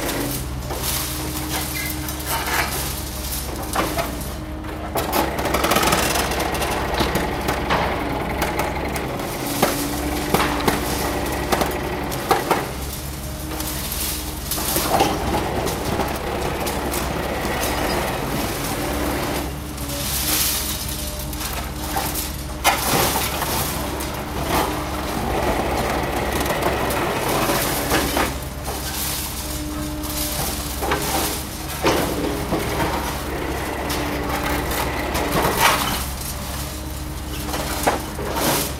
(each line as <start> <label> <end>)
0.0 excavator is sorting demolition waste 38.7